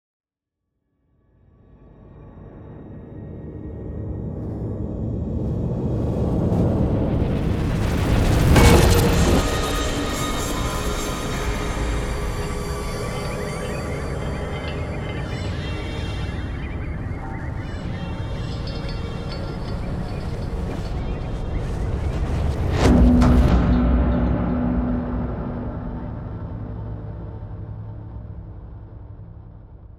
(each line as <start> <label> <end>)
5.5 whoosh 27.2
6.0 riser 27.3
6.6 explosion 14.4
7.8 impact 27.3